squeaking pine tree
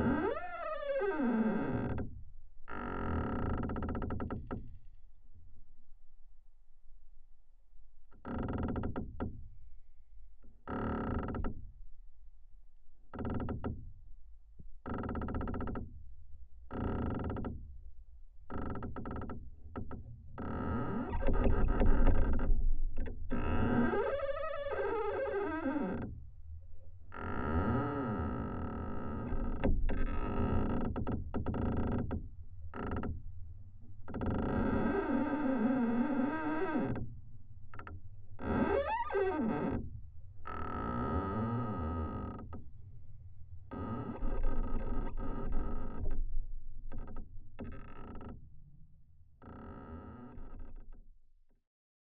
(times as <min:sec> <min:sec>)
0:23.4 0:26.1